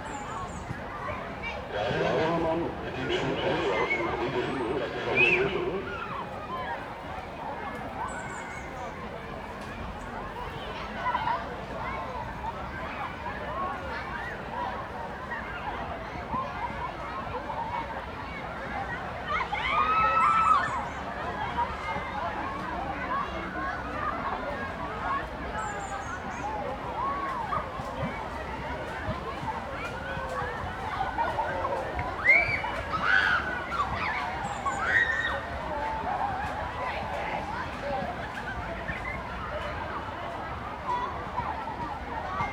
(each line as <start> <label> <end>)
0.0 Kids, and others, enjoying open air swimming 18.3
1.7 loudspeaker announcements reverberate 6.2
22.0 Kids, and others, enjoying open air swimming 42.5